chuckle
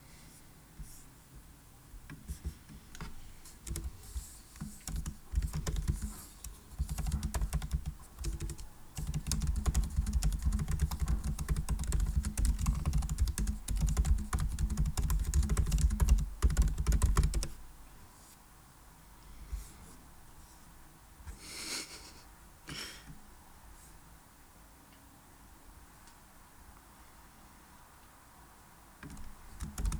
21.4 23.1

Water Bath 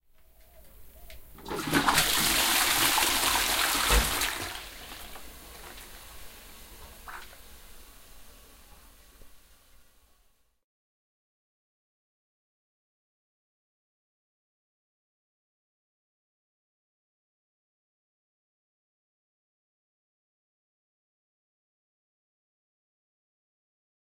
1.4 7.8

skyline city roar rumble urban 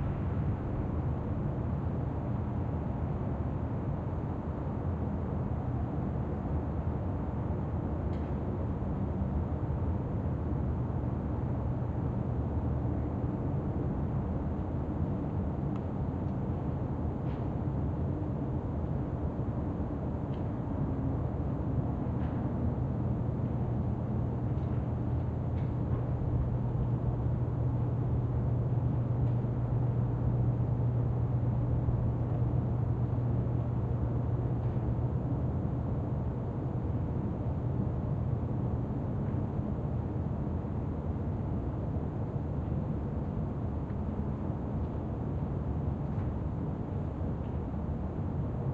0.0 8.0

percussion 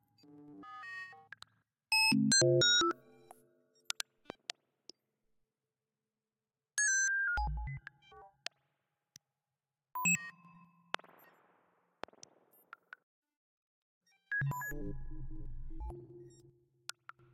10.9 13.0

